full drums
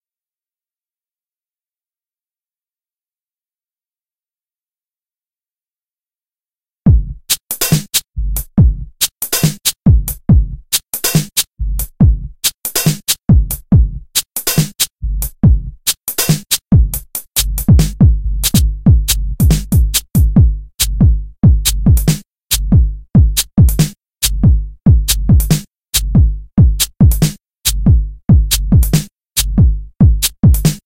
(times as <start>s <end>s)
6.9s 30.8s